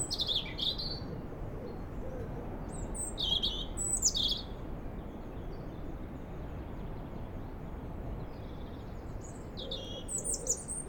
distant sea 0:00.0 - 0:10.8

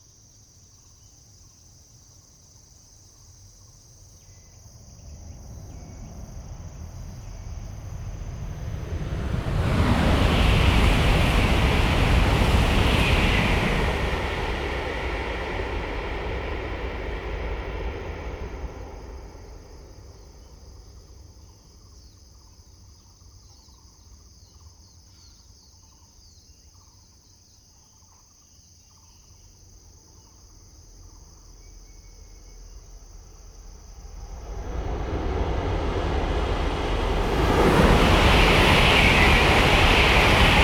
high-speed train 0:04.6 - 0:22.9
traffic sound 0:05.0 - 0:20.6
high-speed train 0:31.0 - 0:40.6
traffic sound 0:33.5 - 0:40.6

